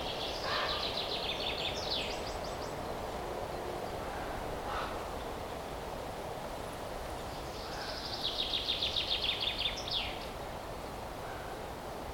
0.0s birds are singing and screaming 6.2s
0.0s Wind is blowing 12.1s
0.0s train 12.1s
7.2s birds are singing and screaming 10.4s

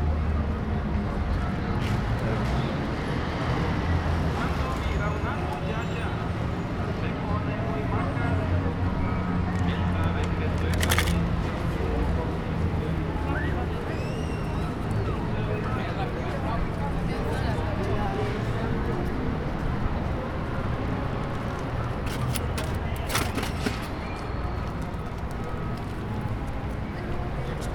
0.0s background traffic sounds 27.7s
0.0s movement and chatter of people 27.7s

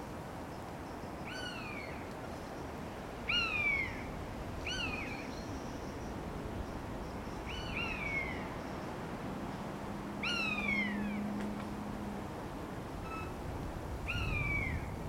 0.0s very windy evening 15.0s
11.2s wind noise in the mics 15.0s

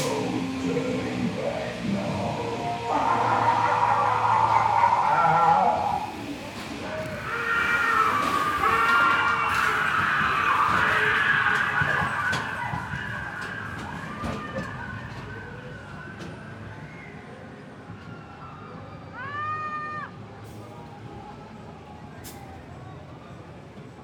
0.0s Creatures to scare visitors 17.3s
0.0s Rollercoaster ride 24.0s

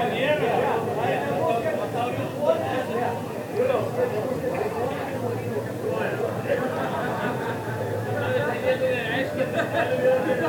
0.0s People talking 10.4s

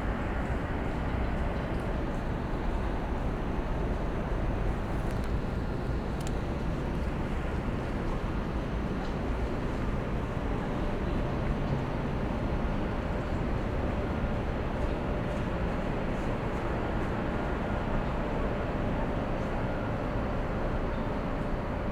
0.0s trains 21.9s

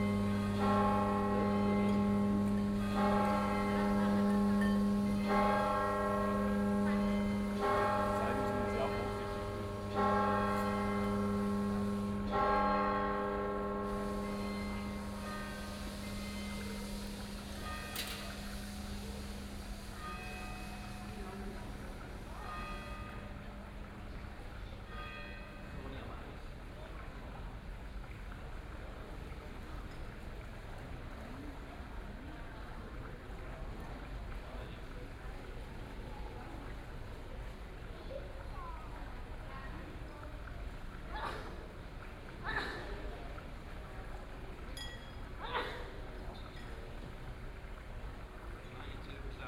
0.0s bells are tolling 23.4s
0.0s Fountain 49.4s

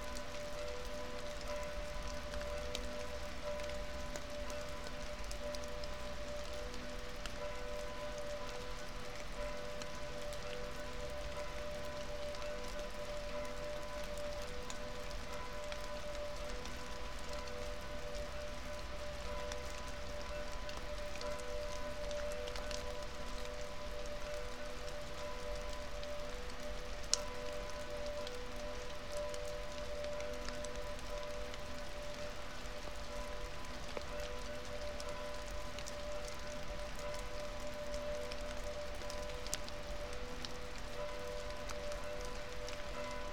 0.0s Rain 43.3s
0.0s melting snow 43.3s

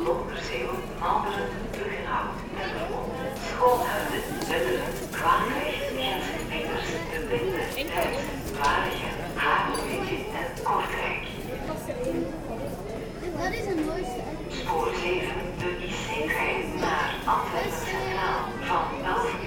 0.0s announcements 11.6s
1.6s train leaving 11.6s
14.4s announcements 19.4s
14.4s train leaving 19.4s

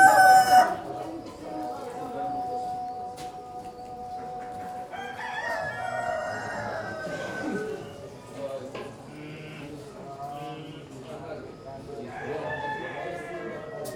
0.0s chickens and roosters 2.3s
4.6s chickens and roosters 8.6s
11.8s chickens and roosters 13.9s

